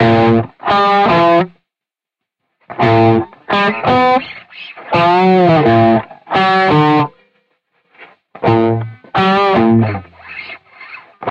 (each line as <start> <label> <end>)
0.0 punky guitar loop 1.6
2.7 punky guitar loop 7.3
8.0 punky guitar loop 11.3